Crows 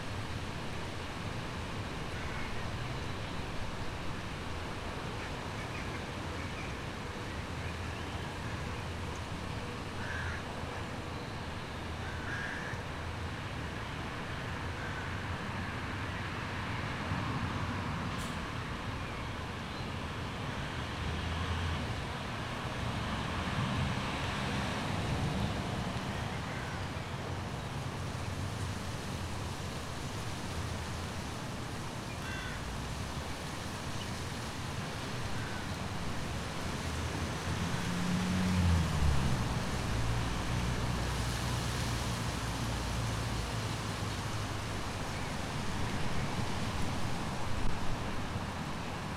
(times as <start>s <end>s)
10.0s 10.5s, 12.0s 12.8s, 14.8s 15.1s, 32.2s 32.7s